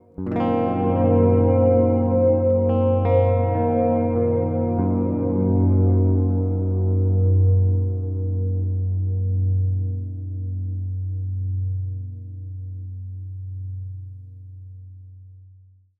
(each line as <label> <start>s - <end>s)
Simple chord played on my G4M electric baritone guitar 0.0s - 12.2s